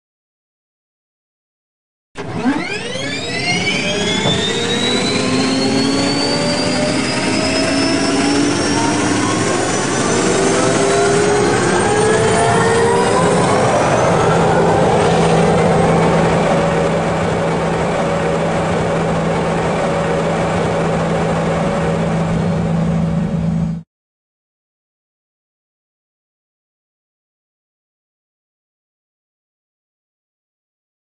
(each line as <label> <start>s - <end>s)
Gas Turbine Engine 2.2s - 23.8s